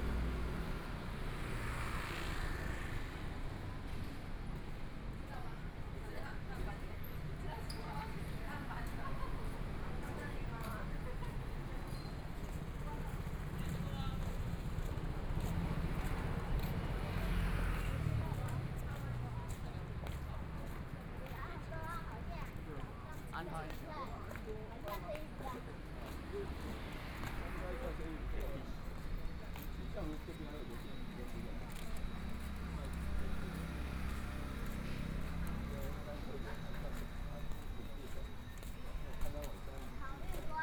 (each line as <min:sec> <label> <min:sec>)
0:00.0 Traffic Sound 0:05.2
0:00.0 walking in the Street 0:40.6
0:08.2 Traffic Sound 0:40.6